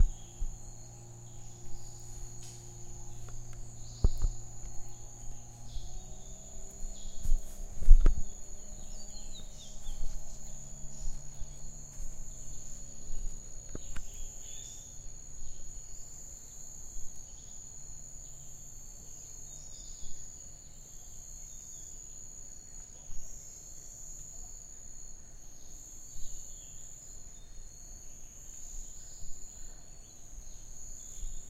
0.0s miscellaneous rainforest creatures 15.2s
0.0s birds 15.8s
0.0s laser crickets 31.4s

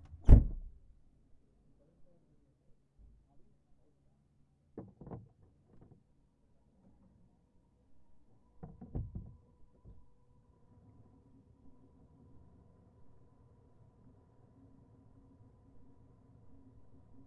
0.0s open the windows 0.8s
0.0s Sound from inside the car 0.8s

